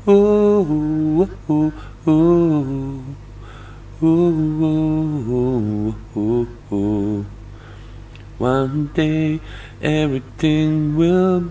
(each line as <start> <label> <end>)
8.4 singing 11.5